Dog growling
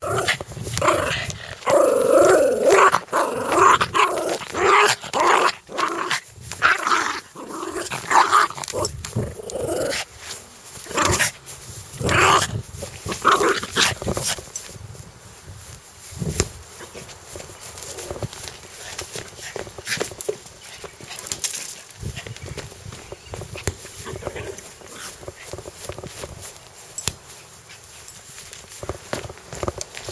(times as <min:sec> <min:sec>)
0:00.0 0:10.2, 0:10.8 0:11.4, 0:12.0 0:14.2, 0:24.0 0:26.0